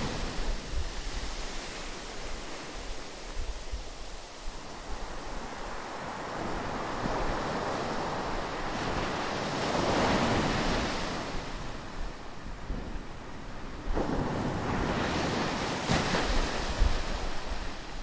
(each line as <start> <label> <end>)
0.0 waves at sandy beach 18.0